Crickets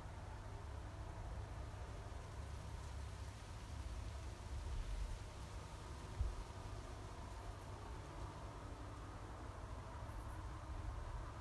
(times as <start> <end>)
9.6 11.4